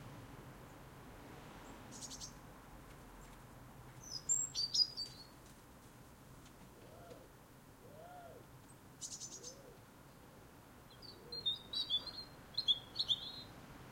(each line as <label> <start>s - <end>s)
birds 1.6s - 2.4s
birds 3.2s - 5.6s
birds 6.4s - 13.9s